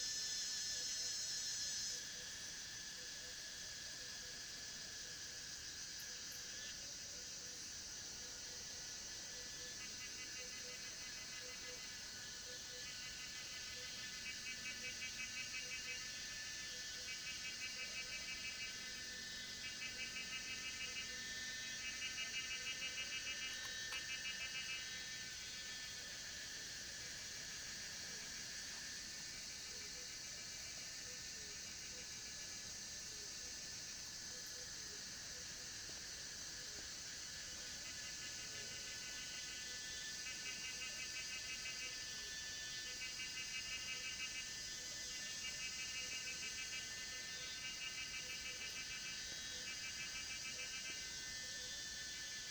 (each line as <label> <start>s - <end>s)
Cicadas cry 0.0s - 52.5s
Insects called 0.0s - 52.5s
Frogs chirping 7.6s - 33.0s
Frogs chirping 33.6s - 52.5s